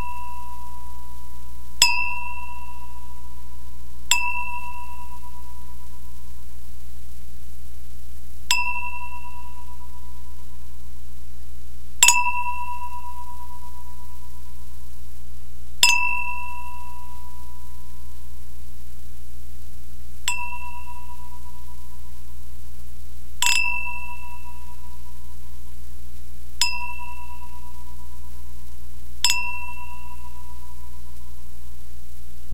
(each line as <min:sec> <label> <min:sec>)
0:01.8 clinking of two crystal wine glasses 0:03.0
0:04.1 clinking of two crystal wine glasses 0:05.3
0:08.5 clinking of two crystal wine glasses 0:09.7
0:12.0 clinking of two crystal wine glasses 0:13.5
0:15.8 clinking of two crystal wine glasses 0:17.2
0:20.3 clinking of two crystal wine glasses 0:21.4
0:23.4 clinking of two crystal wine glasses 0:24.8
0:26.6 clinking of two crystal wine glasses 0:27.8
0:29.2 clinking of two crystal wine glasses 0:30.7